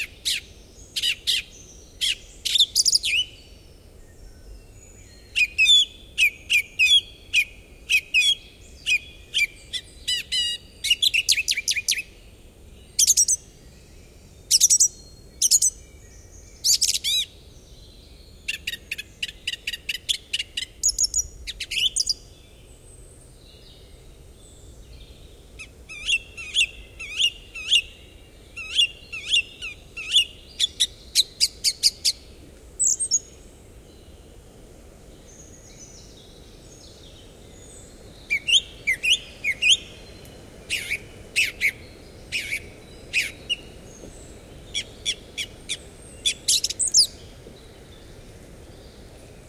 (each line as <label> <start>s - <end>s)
Song thrush 0.0s - 49.4s
wind in the still leaveless trees 0.0s - 49.4s